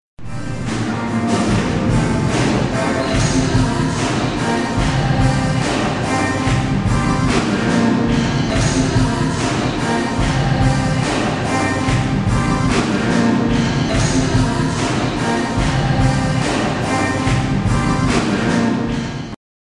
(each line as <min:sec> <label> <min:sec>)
0:00.4 catholic-rock concert 0:19.2